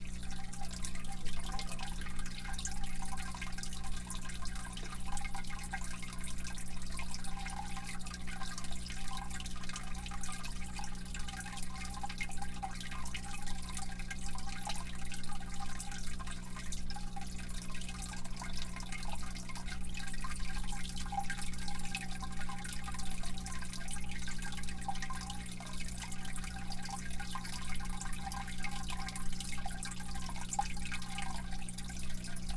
Aquarium 0:00.0 - 0:32.5
bubbles 0:00.0 - 0:32.5

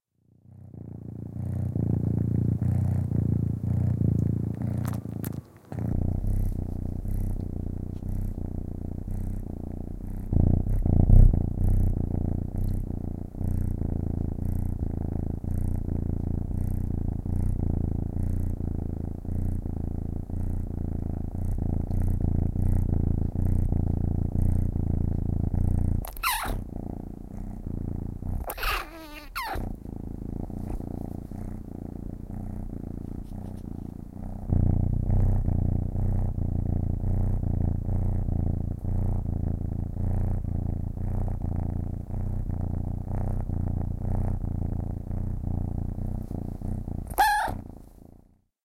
Purring 0:00.0 - 0:48.5
miaow 0:26.1 - 0:26.6
miaow 0:28.5 - 0:29.6
miaow 0:47.1 - 0:47.6

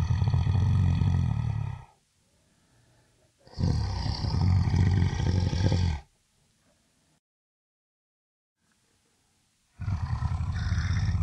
growl 0:00.0 - 0:02.0
growl 0:03.4 - 0:06.1
growl 0:09.8 - 0:11.2

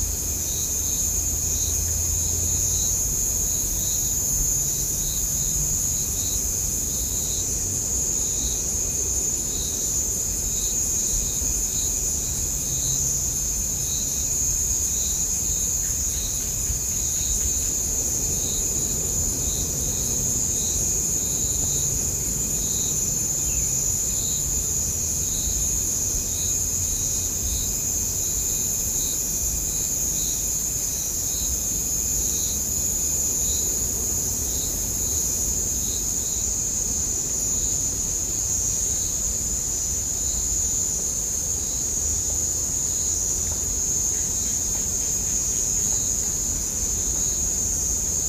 crickets 0:00.0 - 0:48.2

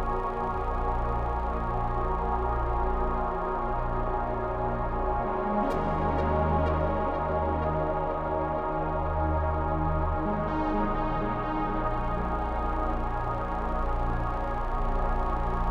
space music 0:00.0 - 0:15.7

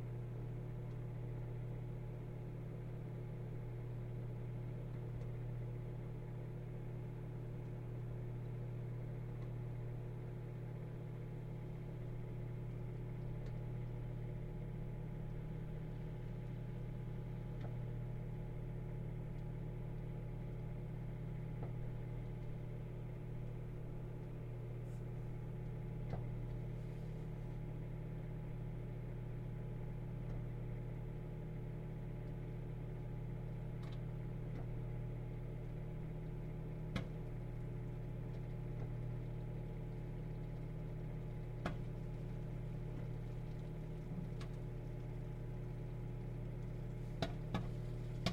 Popcorn popping in a microwave 0:00.0 - 0:48.3

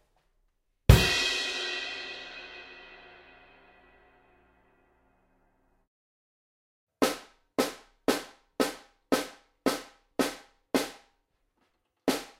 Mapex snare 0:12.1 - 0:12.3
hi hats 0:12.1 - 0:12.3

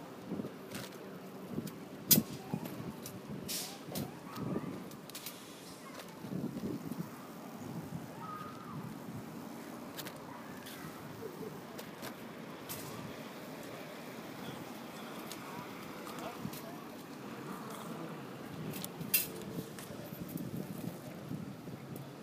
people 0:10.0 - 0:20.3

